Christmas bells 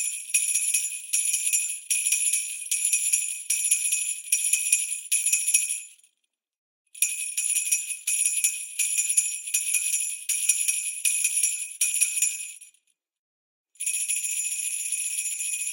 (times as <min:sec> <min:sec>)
0:13.8 0:15.7